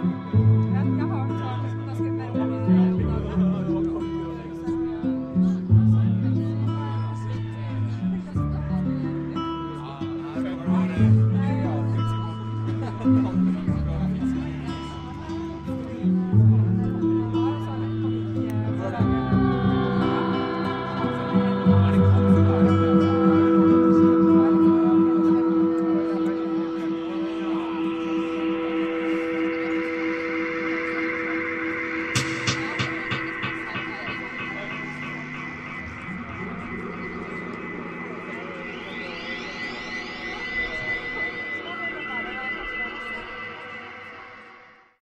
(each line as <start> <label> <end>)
16.6 band played outside on the balkony 44.6